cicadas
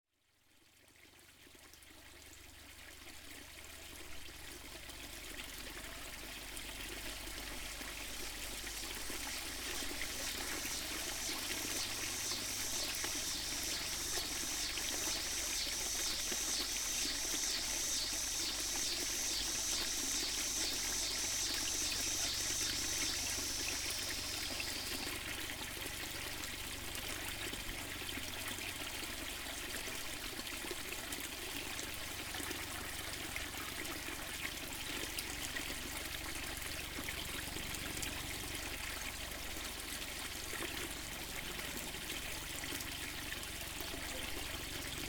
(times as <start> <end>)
6.8 28.8, 36.9 45.0